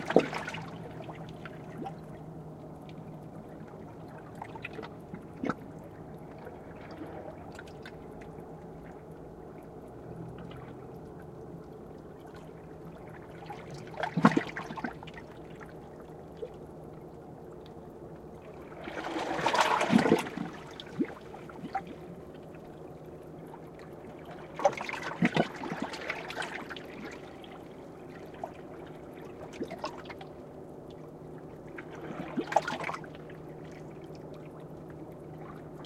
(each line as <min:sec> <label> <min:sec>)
0:18.7 waves between rocks 0:21.8